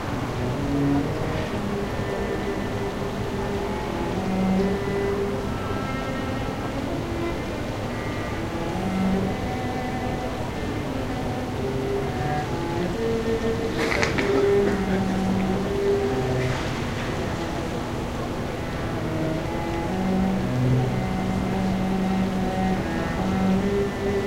cello 0.0 - 24.2

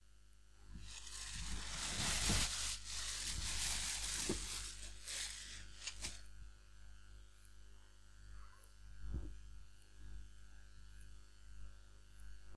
Noise from plasticbag 0.7 - 6.4

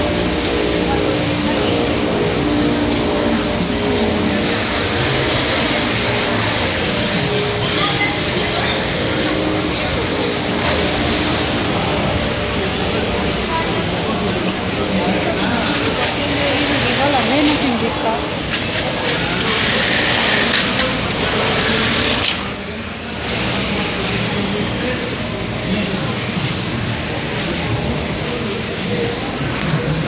sewing machines 18.5 - 22.5

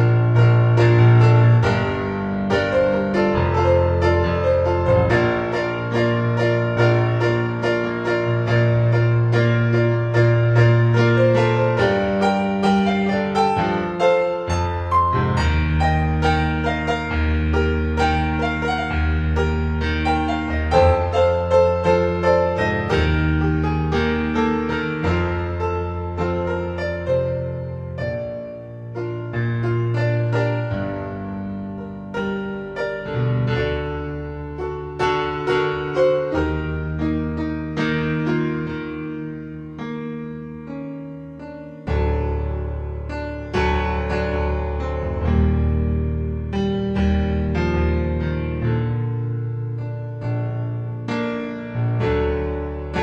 piano 0.0 - 53.0

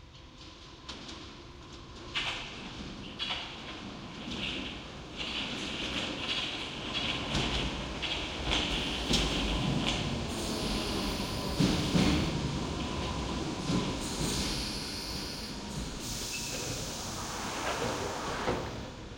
passes from left to right of underground trains 0.0 - 19.1

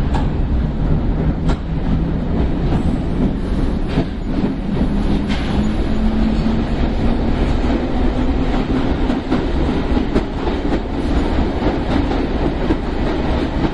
train 0.0 - 13.7

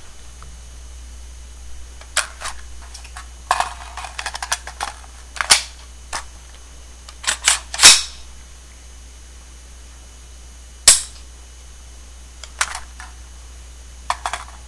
magazine removal/insertion 4.2 - 6.3
magazine removal/insertion 7.1 - 8.2
Cocking 7.2 - 8.2
Cocking 10.9 - 11.2

